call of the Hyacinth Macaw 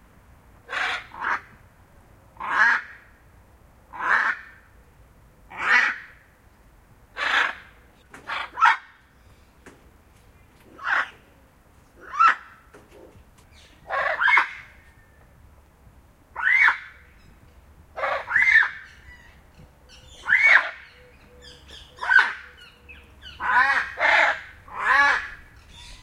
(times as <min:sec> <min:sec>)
0:00.6 0:01.6, 0:02.4 0:03.1, 0:03.9 0:04.6, 0:05.5 0:06.2, 0:07.1 0:09.0, 0:10.7 0:11.2, 0:12.0 0:15.1, 0:16.4 0:17.3, 0:17.9 0:26.0